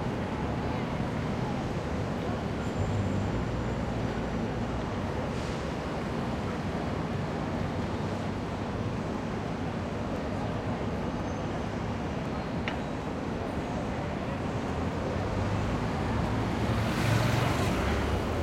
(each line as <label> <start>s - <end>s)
buses 0.0s - 18.4s
pedestrians 0.0s - 18.4s
passing cars 14.2s - 18.4s